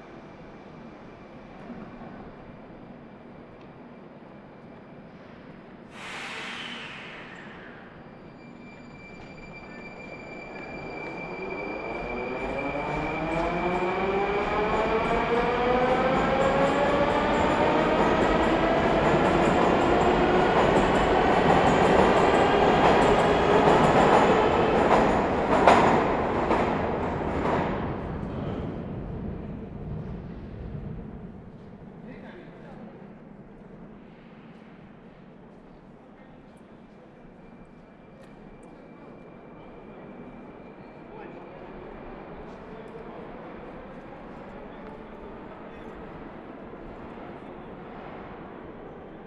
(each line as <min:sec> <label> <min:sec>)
0:00.0 Trains Traffic 0:49.2